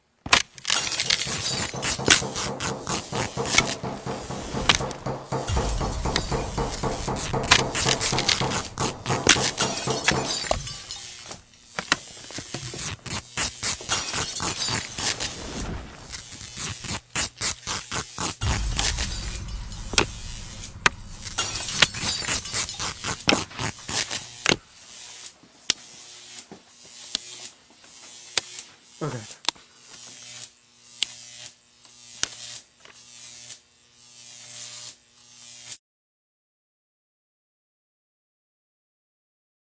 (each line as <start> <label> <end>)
0.9 creaking wood 11.1
0.9 hammering 11.4
1.2 set destruction Sound Effect 11.0
18.4 creaking wood 24.1
18.4 set destruction Sound Effect 24.2
18.4 hammering 24.4